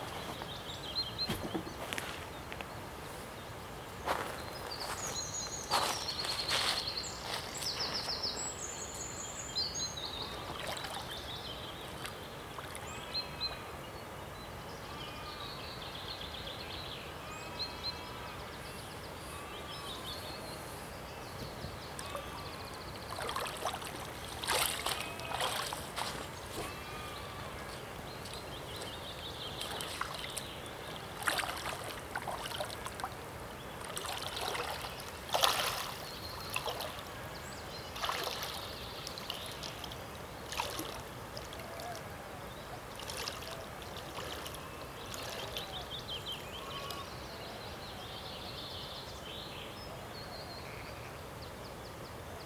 Skinny dip 0:22.0 - 0:33.2
Skinny dip 0:33.8 - 0:37.0
Skinny dip 0:37.9 - 0:41.9

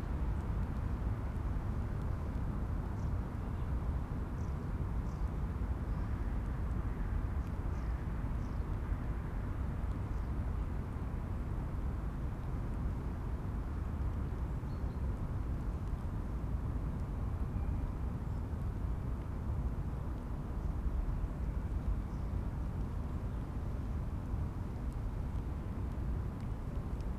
rain drops on dry leaves 0:23.9 - 0:27.1

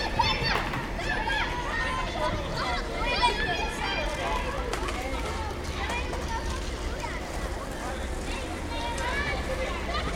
Kids skateboarding 0:00.0 - 0:10.1

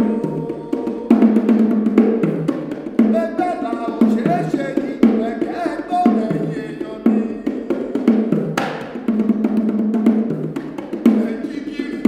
performing a song in Yoruba 0:00.0 - 0:12.0

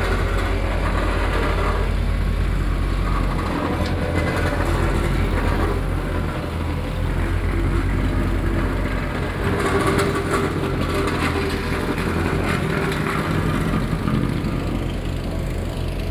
Being filled and paved road 0:00.0 - 0:16.1
Construction noise 0:00.0 - 0:16.1

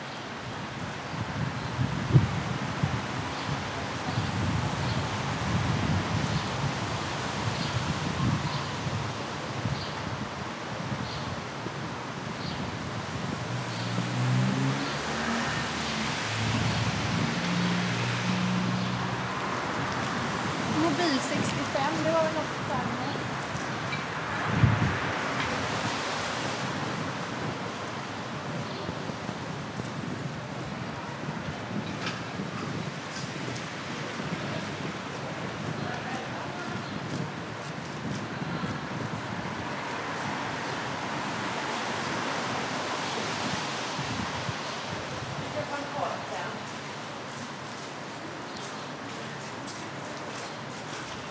walkers in the street 0:00.0 - 0:51.3
people in the terrasse 0:19.3 - 0:26.6
people in the terrasse 0:27.2 - 0:41.3
people in the terrasse 0:45.3 - 0:51.3

